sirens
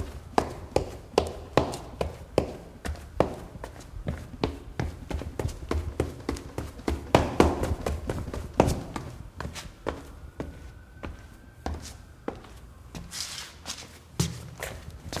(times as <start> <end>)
8.2 13.6